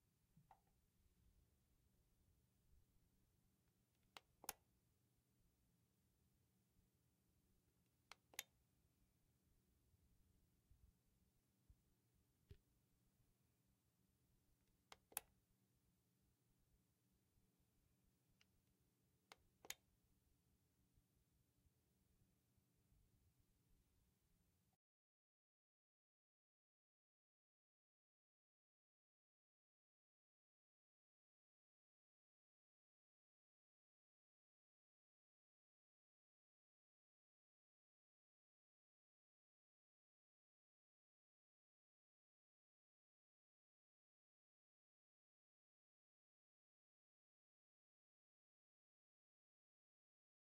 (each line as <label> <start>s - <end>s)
light clicker 4.0s - 4.7s
light clicker 8.1s - 8.6s
light clicker 14.9s - 15.4s
light clicker 19.3s - 19.9s